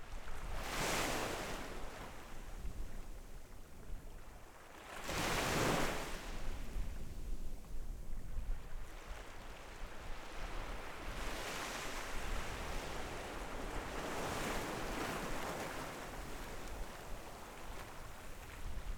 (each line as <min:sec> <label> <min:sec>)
0:04.3 waves 0:06.7
0:08.6 waves 0:18.9